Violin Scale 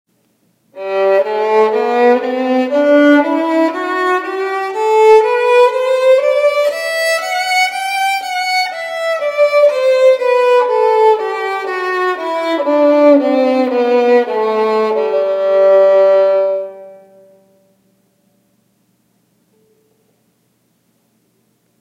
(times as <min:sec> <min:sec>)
0:00.8 0:17.6